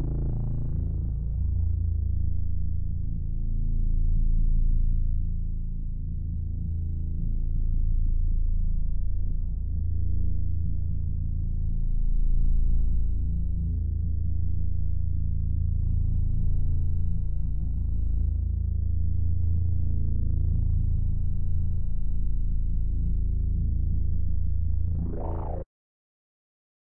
18.7s bass synth 25.7s

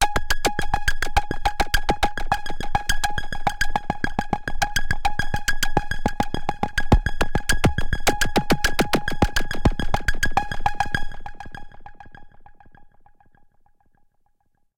3.8s arpeggiated loop 10.8s

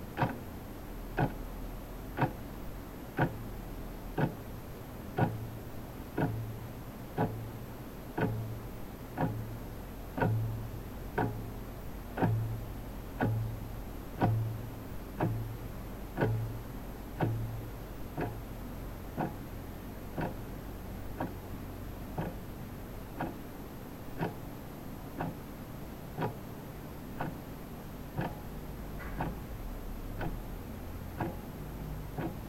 0.0s analog office clock, front perspective, muted ticks 32.4s

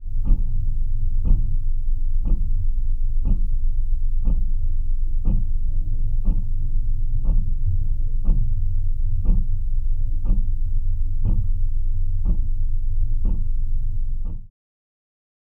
0.2s Clock Tick 0.5s
1.2s Clock Tick 1.5s
2.2s Clock Tick 2.6s
3.2s Clock Tick 3.6s
4.2s Clock Tick 4.5s
5.2s Clock Tick 5.6s
6.2s Clock Tick 6.5s
7.2s Clock Tick 7.6s
8.2s Clock Tick 8.5s
9.2s Clock Tick 9.5s
10.2s Clock Tick 10.5s
11.2s Clock Tick 11.5s
12.2s Clock Tick 12.5s
13.2s Clock Tick 13.6s

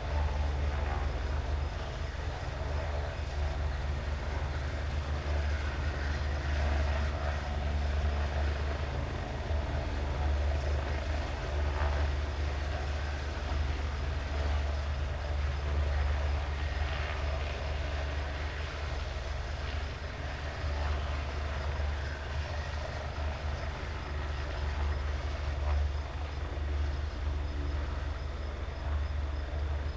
0.0s helicopter flying in 29.9s

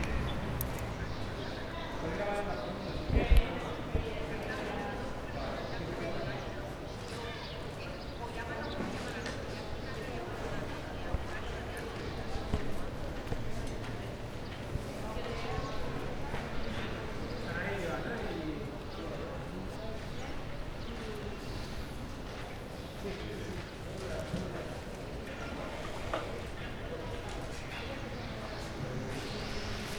0.0s Traffic 3.9s
26.7s Traffic 29.9s

